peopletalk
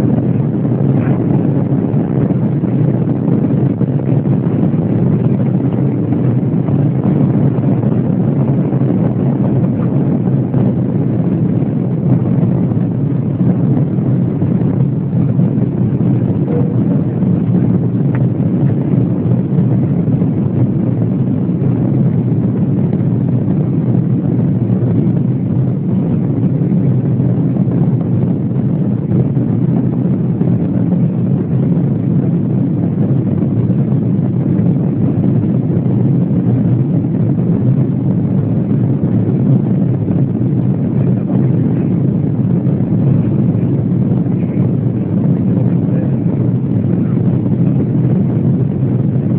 0:01.0 0:01.3, 0:16.4 0:16.9, 0:44.3 0:44.7, 0:45.6 0:46.4

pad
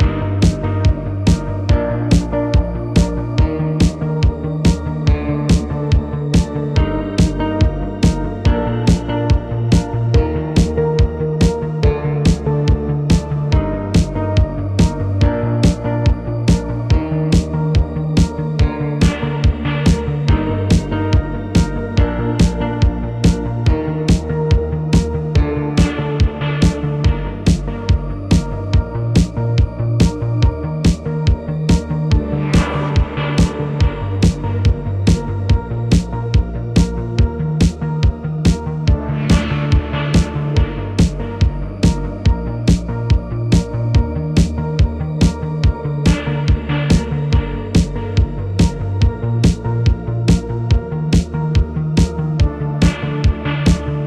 0:25.8 0:27.7, 0:52.8 0:54.0

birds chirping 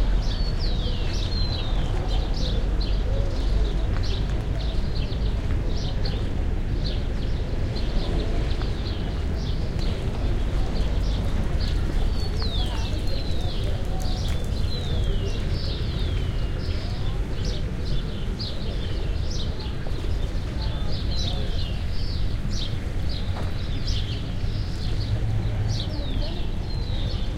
0:06.8 0:27.3

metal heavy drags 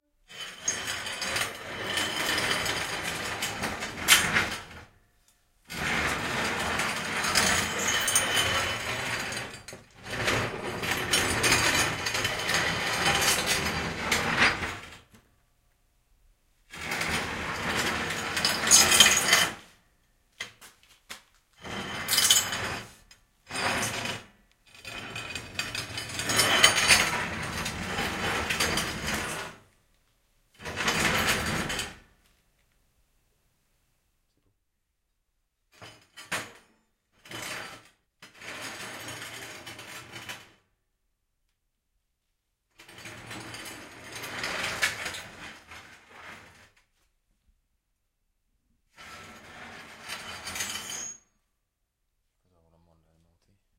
0:05.7 0:14.9, 0:21.6 0:29.6

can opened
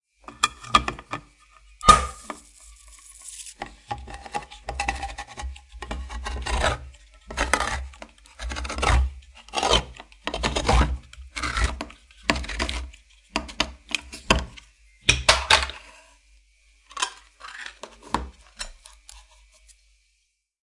0:01.8 0:04.5

